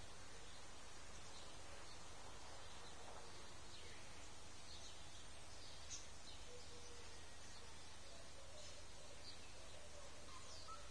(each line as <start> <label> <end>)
0.0 songbirds 10.9